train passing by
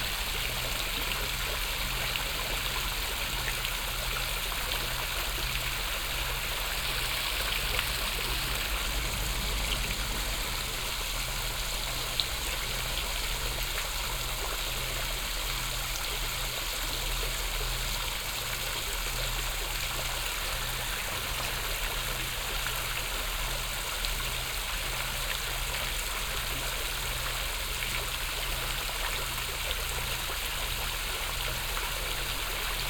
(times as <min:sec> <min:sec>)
0:07.3 0:12.9